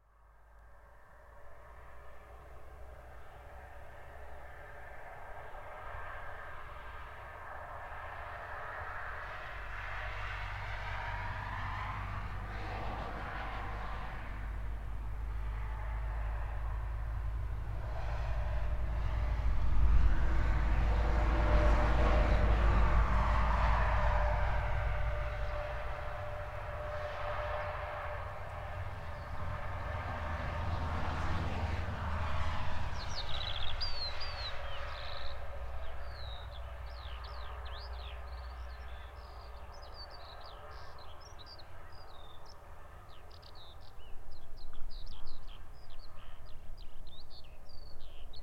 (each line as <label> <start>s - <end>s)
highway 0.0s - 48.4s
trucks 1.2s - 44.1s
birds 33.0s - 48.4s